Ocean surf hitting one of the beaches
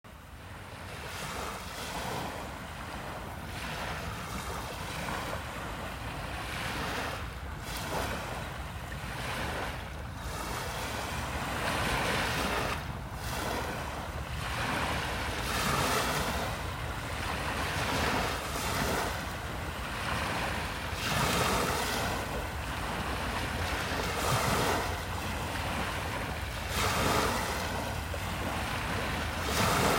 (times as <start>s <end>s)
9.4s 29.9s